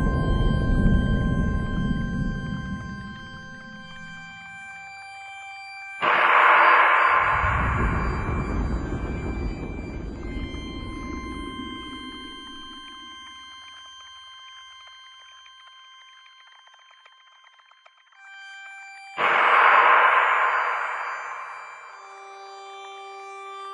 slowed down crash/explosion 6.0 - 12.9
slowed down crash/explosion 19.2 - 22.2

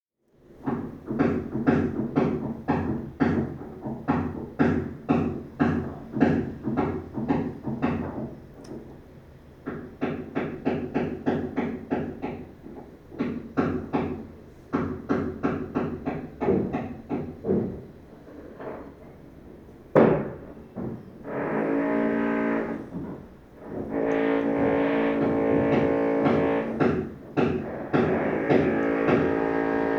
hammering 0.6 - 8.8
hammering 9.7 - 17.9
hammering 20.0 - 21.1
Heavy drilling 21.2 - 29.9
hammering 22.7 - 29.9

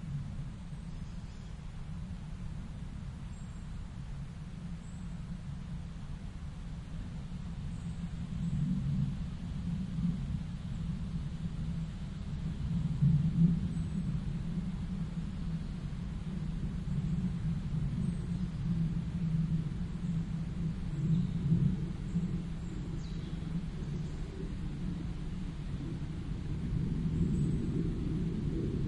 airplane can be heard passing overhead 0.0 - 28.8
winds are rustling the leaves 0.0 - 28.8
birds 15.1 - 25.8

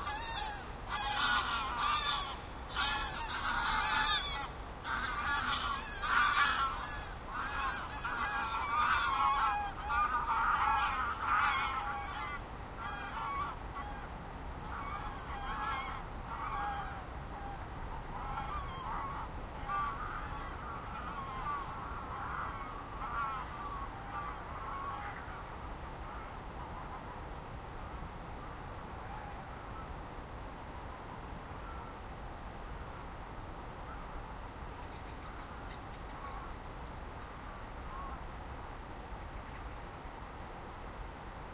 geese 0.0 - 27.1
geese 28.4 - 29.9
geese 31.6 - 32.0
geese 34.9 - 38.2

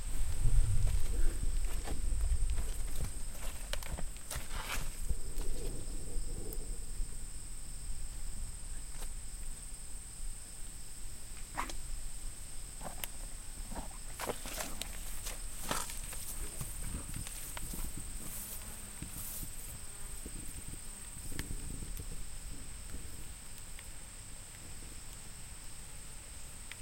Bugs 0.0 - 26.8
Wind blows through tall grass 0.0 - 26.8
Horse stepping through a muddy field 13.7 - 18.4

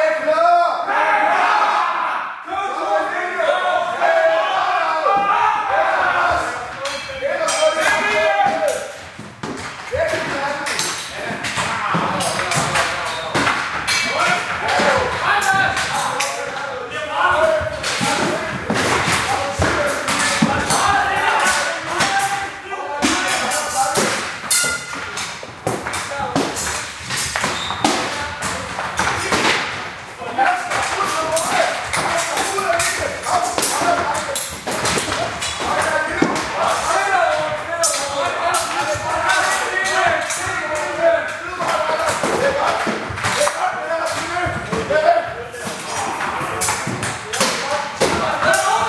men yelling 0.2 - 9.0
men yelling 14.0 - 24.2
swords crossing 24.4 - 25.3
men yelling 30.2 - 42.8

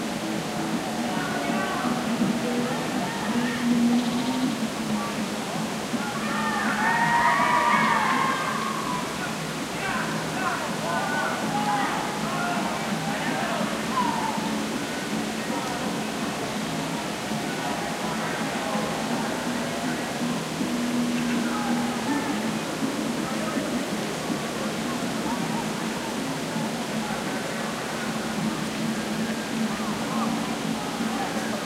distant voices of young people 0.0 - 31.6

